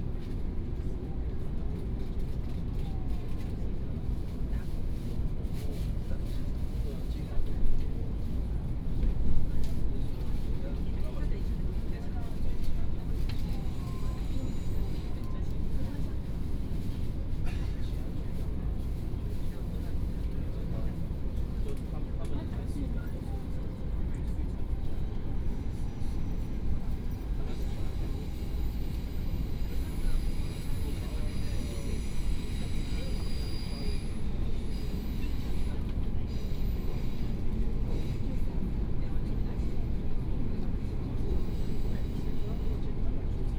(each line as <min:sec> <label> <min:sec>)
0:00.0 High - speed railway 0:43.5
0:13.5 Train message broadcast 0:15.8
0:24.8 Train message broadcast 0:43.5